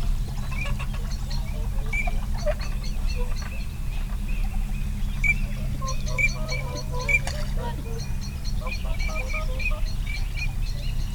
barnacle geese 0.0 - 10.6
canada geese 5.2 - 10.5

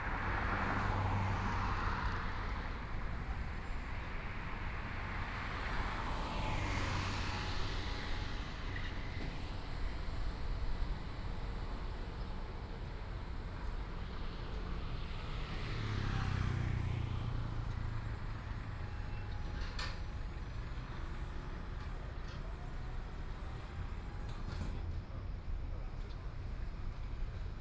Traffic Sound 0.0 - 24.0

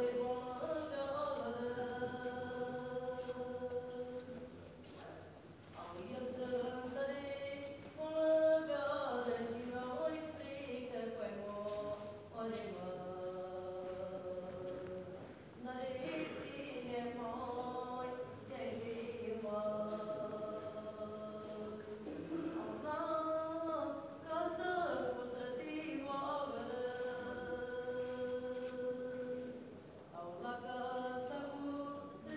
woman sits on the steps singing 0.0 - 4.4
woman sits on the steps singing 5.8 - 32.3

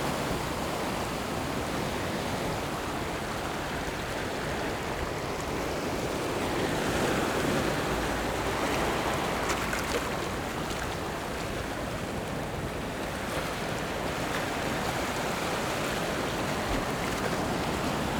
waves 0.0 - 18.1

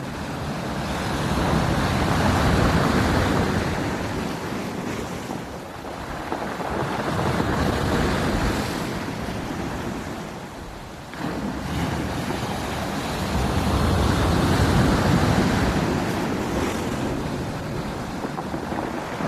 waves crashing 0.0 - 19.2

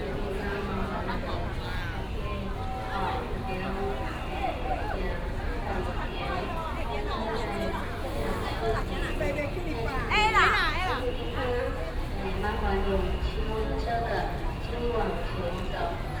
A lot of people 0.0 - 16.2
Traffic sound 0.0 - 16.2

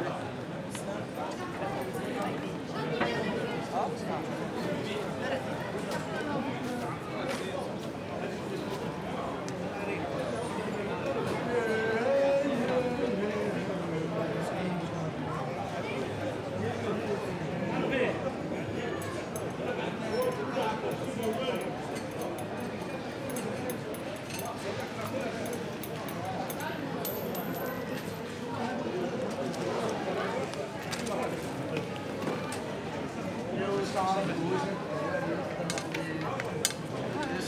Improvised street market 0.0 - 37.4

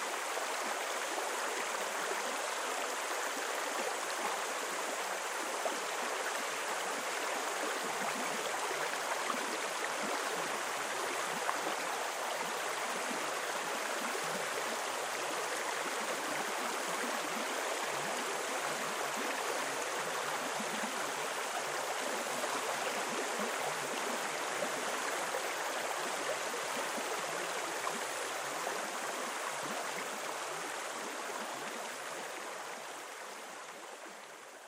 Puketi Stream 0.0 - 34.6

